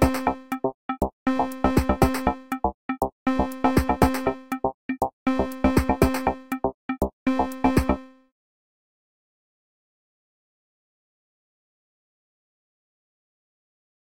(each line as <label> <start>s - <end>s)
Video game music 0.0s - 8.3s